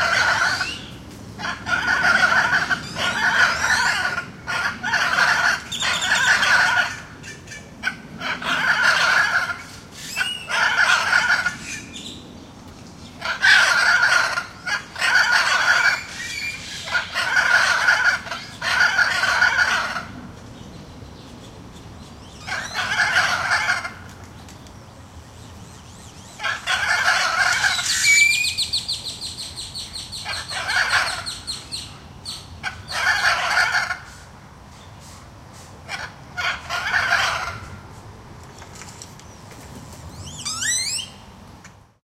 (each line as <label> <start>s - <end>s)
Calls from a pair of Hyacinth Macaws 0.0s - 11.9s
other birds in the background 0.0s - 37.8s
Calls from a pair of Hyacinth Macaws 13.2s - 20.2s
Calls from a pair of Hyacinth Macaws 22.4s - 24.1s
Calls from a pair of Hyacinth Macaws 26.4s - 28.8s
Calls from a pair of Hyacinth Macaws 29.8s - 34.3s
Calls from a pair of Hyacinth Macaws 35.8s - 37.8s
other birds in the background 38.4s - 41.8s